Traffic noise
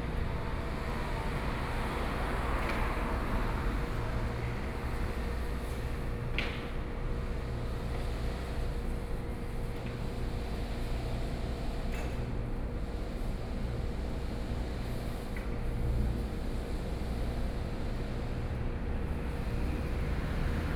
0:00.0 0:06.1, 0:18.9 0:20.7

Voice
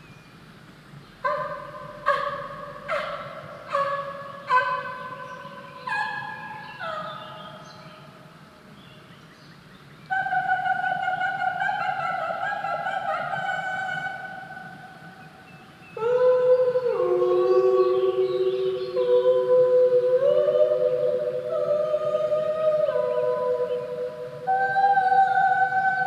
0:10.1 0:14.3, 0:16.0 0:26.0

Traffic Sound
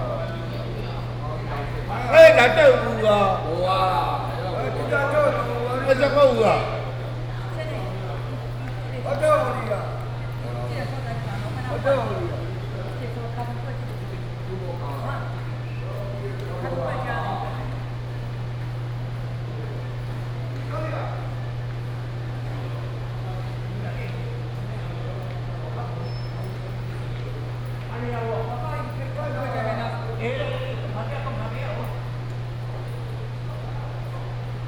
0:00.0 0:16.6

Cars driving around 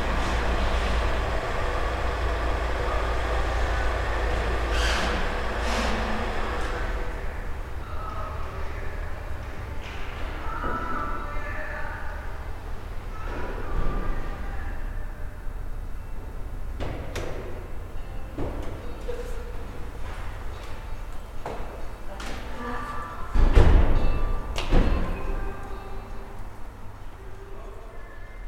0:00.0 0:08.1

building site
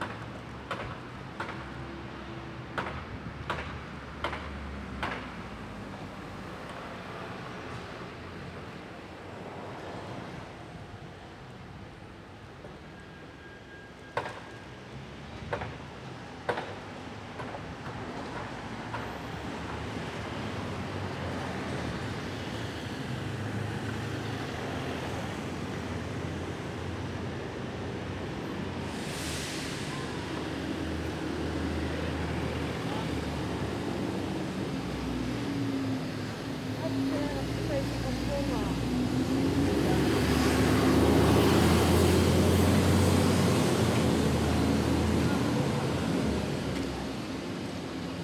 0:00.0 0:08.8, 0:12.6 0:19.9, 0:27.8 0:45.8

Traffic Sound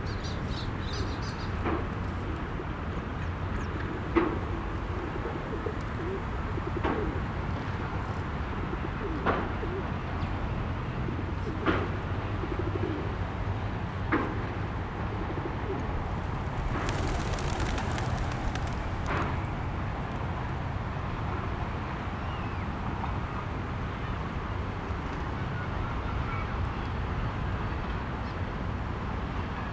0:15.4 0:26.0

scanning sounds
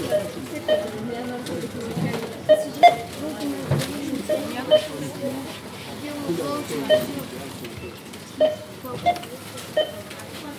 0:06.7 0:10.1

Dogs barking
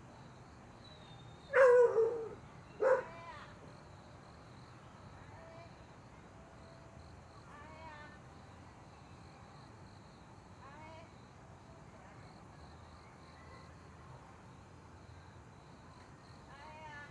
0:01.5 0:03.1

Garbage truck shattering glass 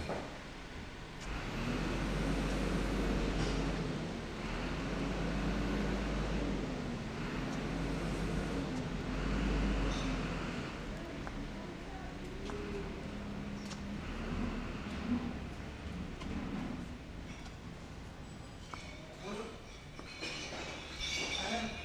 0:19.6 0:21.8

